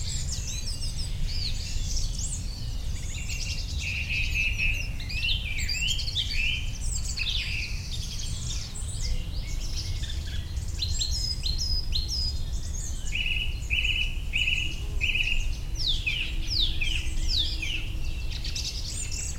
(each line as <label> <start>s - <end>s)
sounds from the nearby village 0.0s - 19.3s